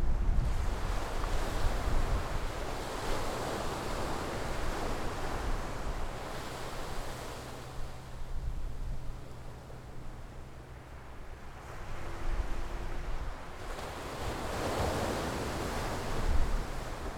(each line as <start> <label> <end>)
0.0 waves 17.1